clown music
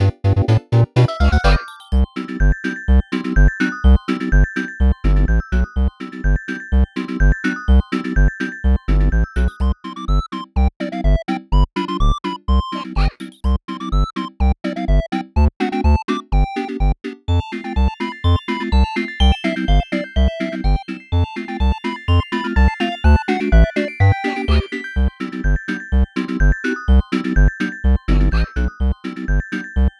0:00.0 0:02.1, 0:12.6 0:13.6, 0:17.3 0:25.2, 0:27.9 0:29.9

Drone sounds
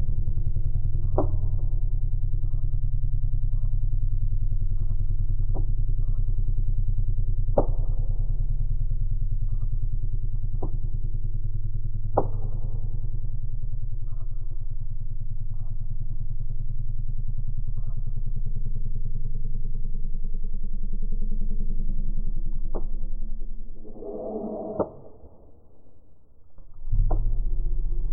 0:23.7 0:26.6

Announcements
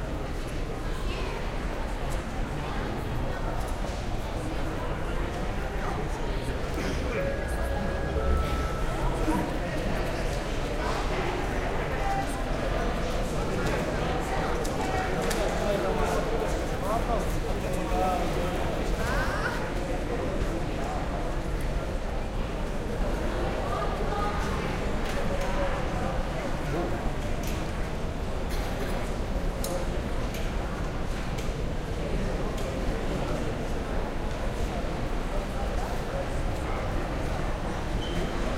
0:06.7 0:10.6

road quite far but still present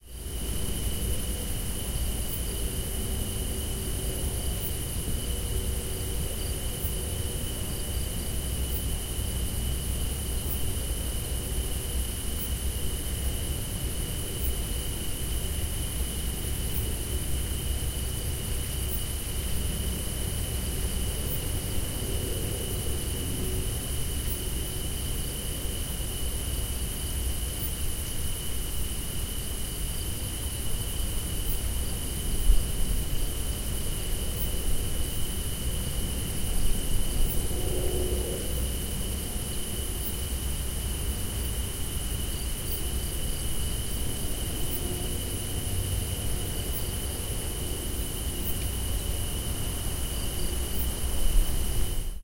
0:31.2 0:52.2

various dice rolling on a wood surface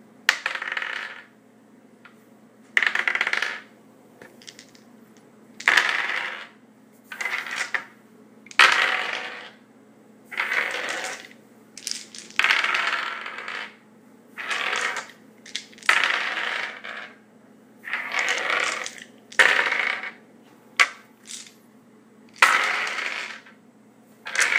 0:00.3 0:01.3, 0:02.8 0:04.9, 0:05.6 0:09.6, 0:10.3 0:13.8, 0:14.4 0:17.2, 0:17.9 0:20.2, 0:20.8 0:21.6, 0:22.4 0:23.6, 0:24.3 0:24.5

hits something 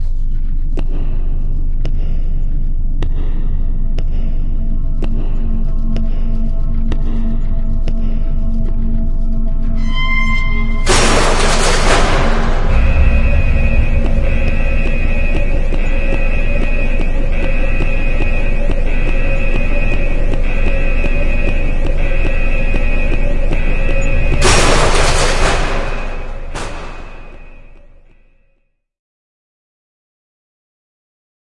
0:10.8 0:16.8

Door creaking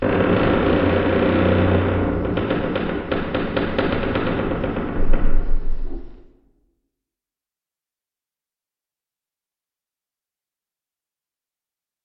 0:00.0 0:06.4

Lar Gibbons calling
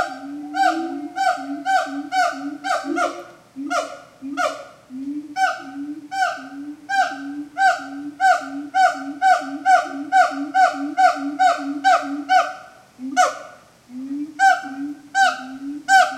0:00.0 0:04.8

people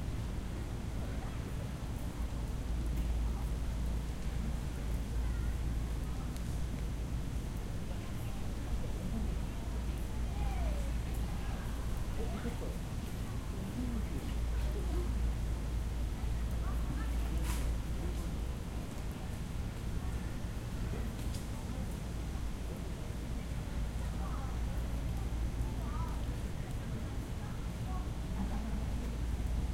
0:07.8 0:22.8, 0:23.4 0:29.7

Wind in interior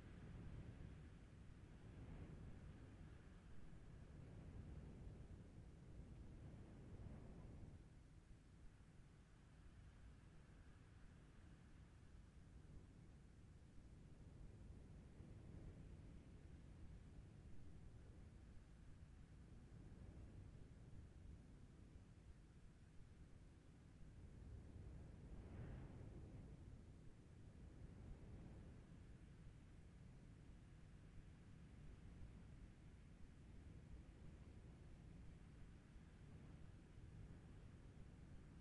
0:00.1 0:08.1

